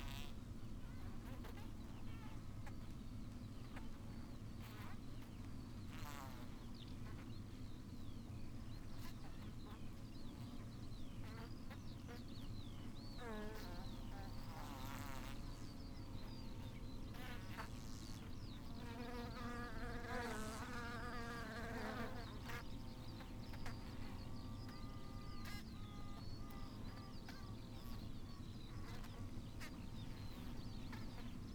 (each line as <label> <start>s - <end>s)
bees swarming on the outside of one of the hives 10.6s - 31.5s